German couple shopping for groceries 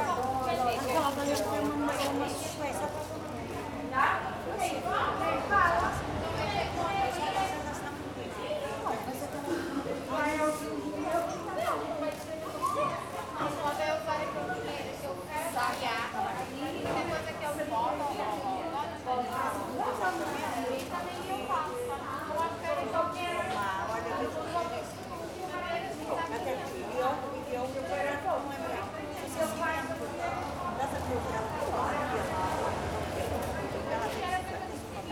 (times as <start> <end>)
0.0 5.7